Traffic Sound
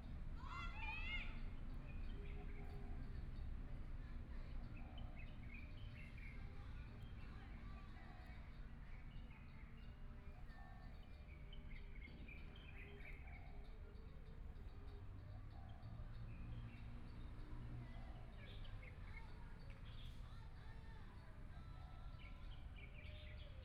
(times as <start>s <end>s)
13.9s 21.5s